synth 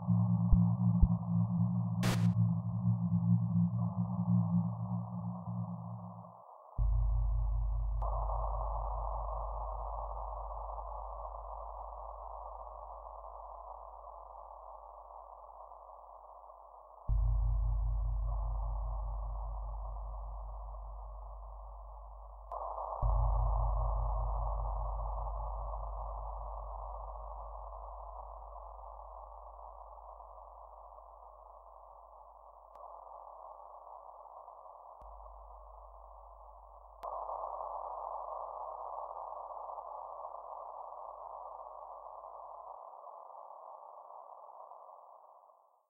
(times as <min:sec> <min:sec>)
0:00.0 0:06.4